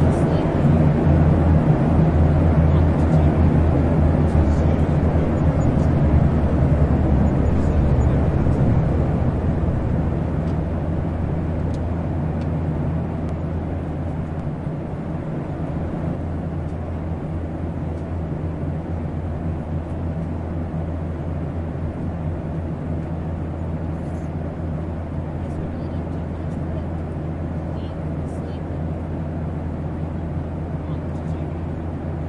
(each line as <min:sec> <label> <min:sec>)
0:00.0 Airplane thrust up during take off 0:28.3